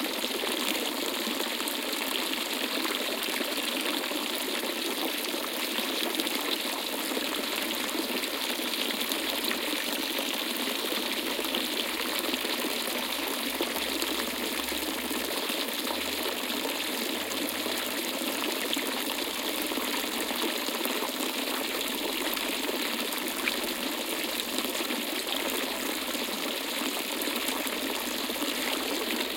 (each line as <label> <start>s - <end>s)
Fountain 0.0s - 29.3s